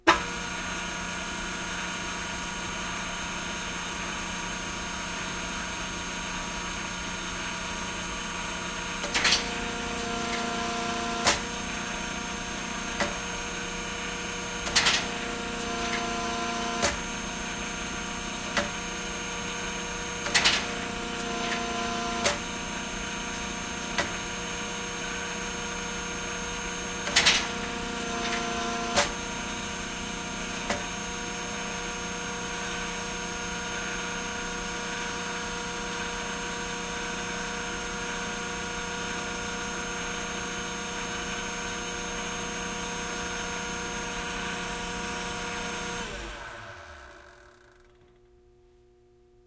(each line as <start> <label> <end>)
9.0 machine hydraulic metal cutter 31.2
44.0 machine hydraulic metal cutter 48.0